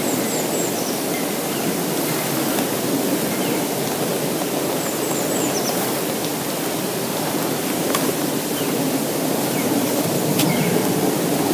Birds are singing 0:00.0 - 0:06.2
Birds are singing 0:08.4 - 0:11.2

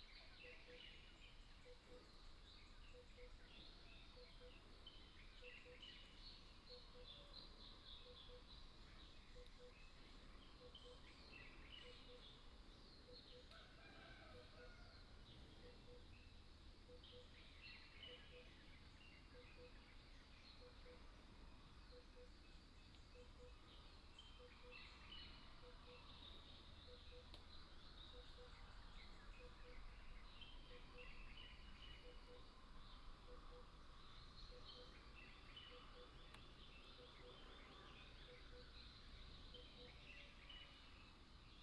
Bird calls 0:21.8 - 0:40.9

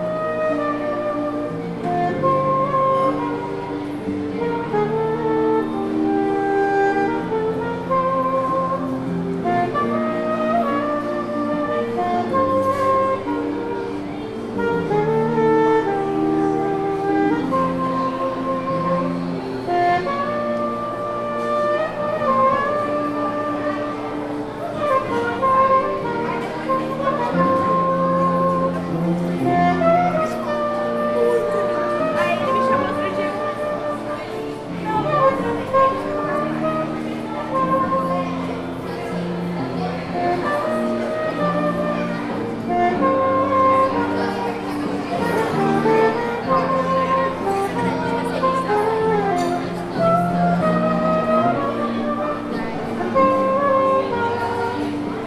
baixista 0:00.0 - 0:55.2
saxofonista 0:00.0 - 0:55.2

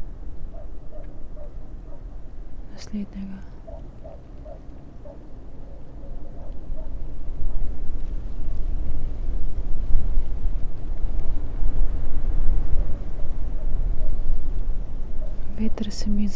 wind 0:00.0 - 0:16.3
snow 0:06.0 - 0:16.3

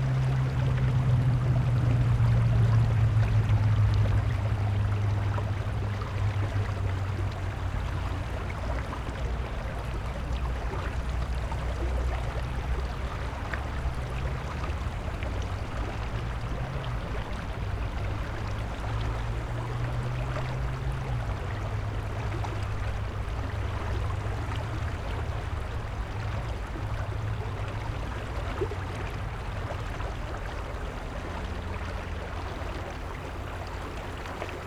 urban river 0:00.0 - 0:34.6

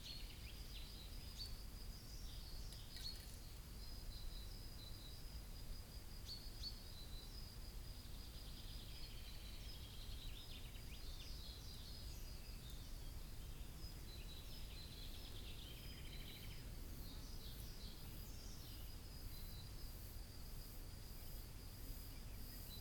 Birds 0:00.0 - 0:22.8
Crickets 0:00.0 - 0:22.8

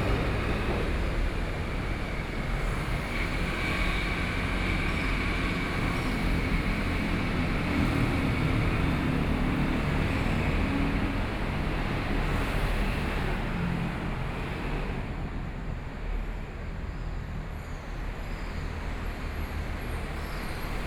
Traffic Noise 0:00.0 - 0:20.8
Train traveling through 0:00.0 - 0:20.8

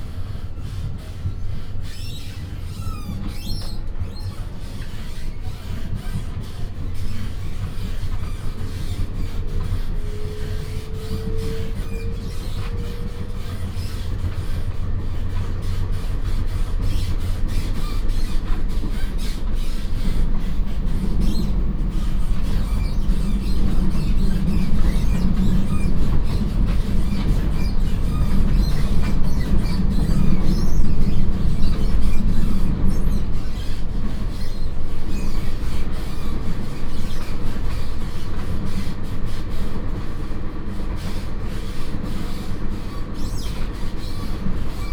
Local Train 0:00.0 - 0:44.9

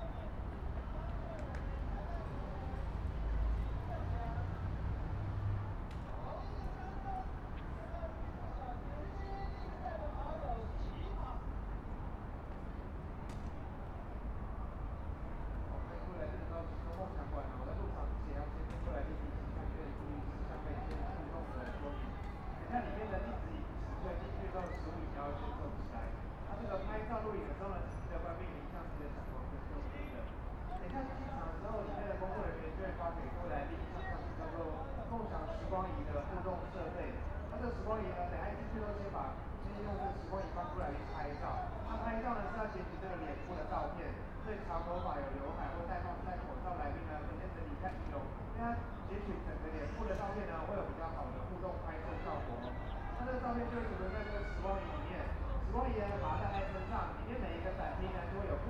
Traffic Sound 0:00.0 - 0:45.0

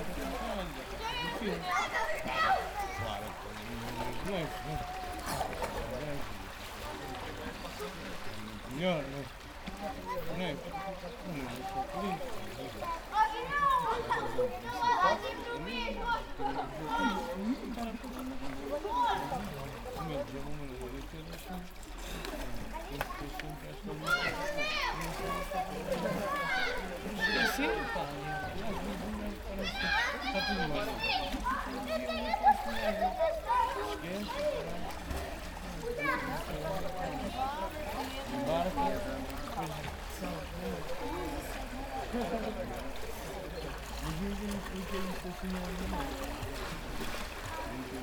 people swimming 0:00.0 - 0:48.0
people talking 0:22.4 - 0:48.0

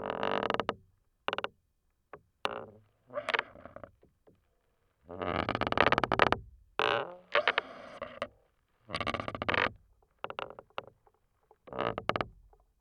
wooden belaying pin of a sailboat 0:00.0 - 0:02.8
wooden belaying pin of a sailboat 0:05.1 - 0:12.8

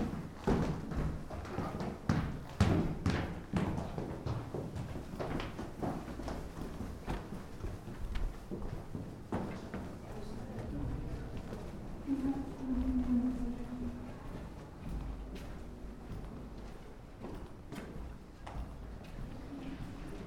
soft steps down the wooden stairs 0:00.0 - 0:20.2
quiet words 0:10.0 - 0:15.2

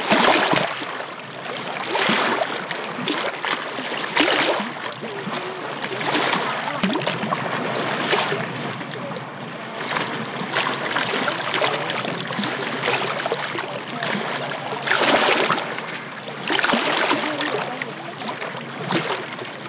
Waves crashing 0:00.0 - 0:19.6
people talking in the distance 0:04.3 - 0:10.4
people talking in the distance 0:11.0 - 0:19.6

